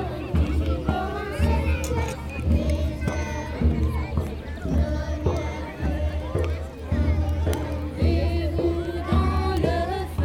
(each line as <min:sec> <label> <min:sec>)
0:00.0 people are celebrating 0:10.2